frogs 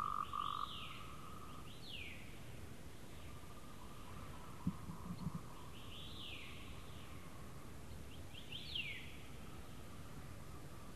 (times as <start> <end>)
0.0 1.6